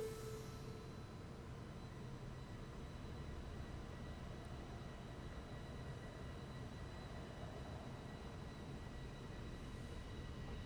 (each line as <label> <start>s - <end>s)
two stranded trains 0.0s - 0.9s